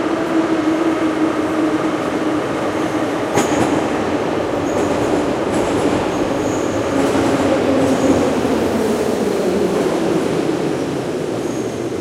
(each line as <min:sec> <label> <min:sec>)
0:00.0 arriving subway 0:12.0